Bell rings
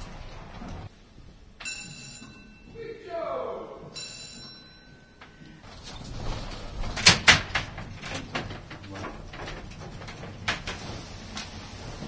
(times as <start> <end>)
1.6 5.6